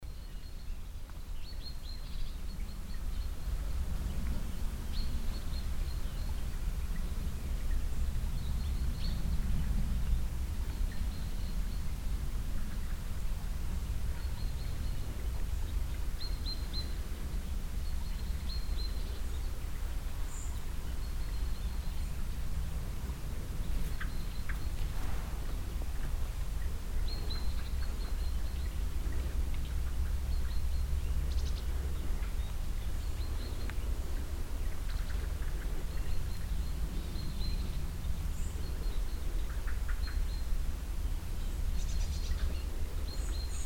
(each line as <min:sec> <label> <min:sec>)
0:00.0 birds 0:43.6
0:00.0 mild wind 0:43.6
0:00.0 small stream nearby 0:43.6